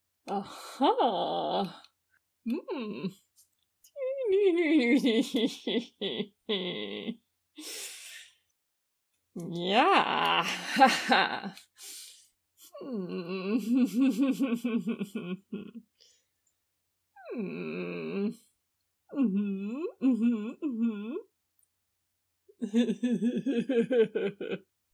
0.3s voice 1.9s
2.5s voice 3.2s
3.9s voice 8.2s
9.4s voice 11.6s
12.8s voice 15.6s

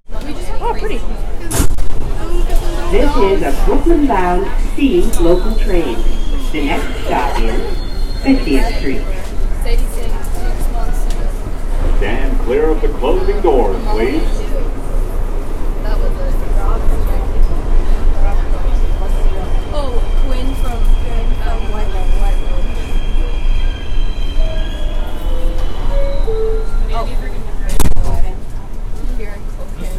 0.0s Subway 29.9s
0.1s Subway Announcement 29.9s

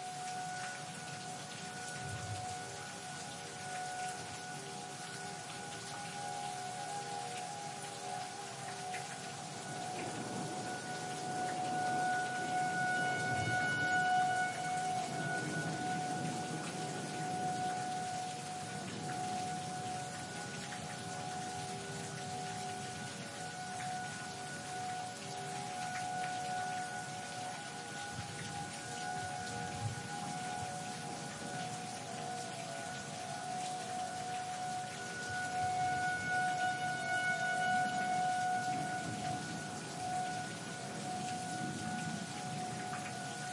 0.0s Tornado sirens 43.5s
0.0s rain 43.5s
9.8s thunderstorm 20.6s
38.5s thunderstorm 43.4s

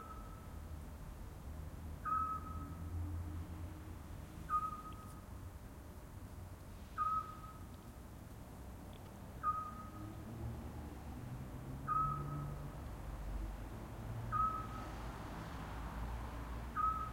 0.0s traffic 17.1s
2.0s pygmy-owl (small owl) 2.8s
7.0s pygmy-owl (small owl) 7.7s
9.4s pygmy-owl (small owl) 10.0s
11.9s pygmy-owl (small owl) 12.5s
14.3s pygmy-owl (small owl) 14.9s
16.8s pygmy-owl (small owl) 17.1s

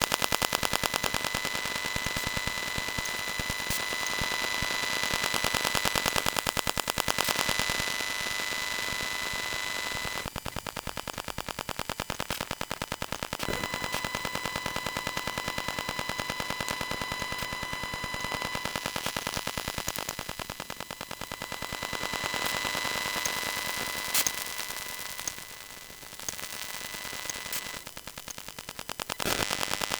0.0s Electromagnetic field recording of a WiFi Hotspot 29.9s

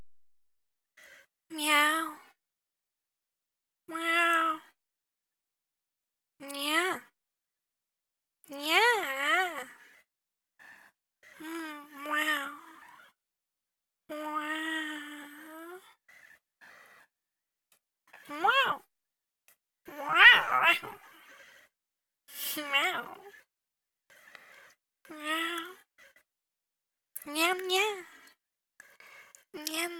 18.2s kitty sounds 18.9s
19.9s kitty sounds 21.6s
29.6s kitty sounds 29.9s

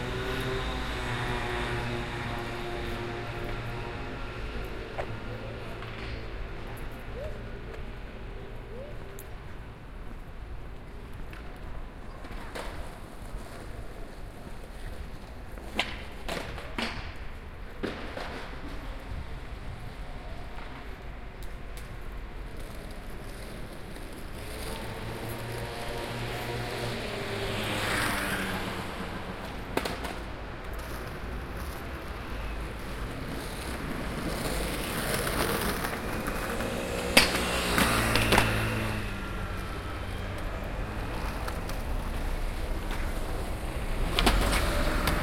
0.0s subway 45.2s

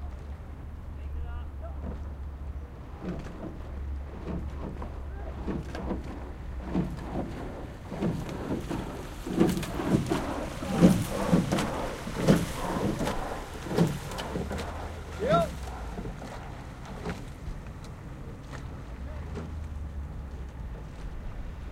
0.0s rowing boat 21.7s

